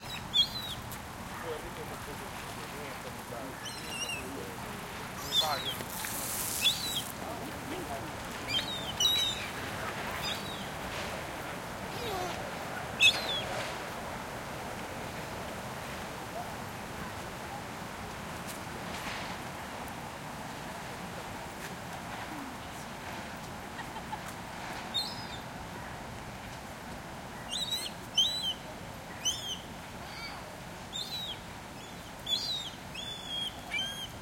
people 1.3 - 14.1

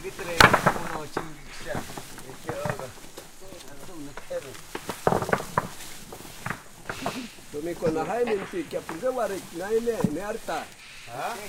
animals 0.0 - 11.4
building site 0.0 - 11.4
insects 0.0 - 11.4
native speak 7.0 - 11.4

